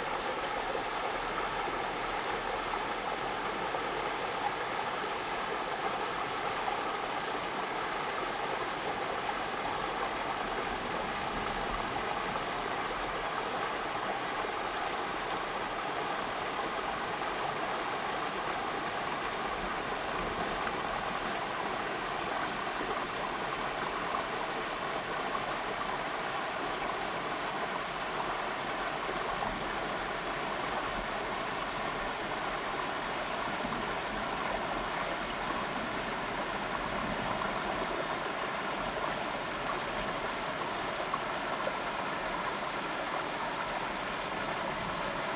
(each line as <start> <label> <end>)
0.0 river 45.3